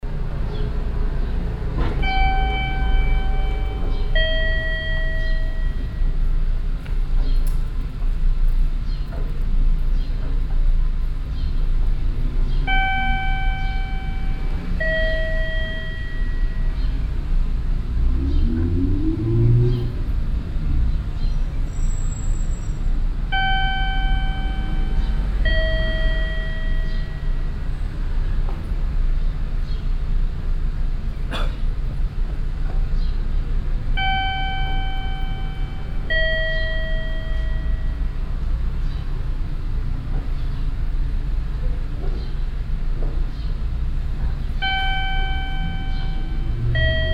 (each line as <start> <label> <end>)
2.0 door bell sounding as people enter or leave the building 6.4
12.7 door bell sounding as people enter or leave the building 17.0
23.3 door bell sounding as people enter or leave the building 27.7
34.0 door bell sounding as people enter or leave the building 38.4
44.6 door bell sounding as people enter or leave the building 47.1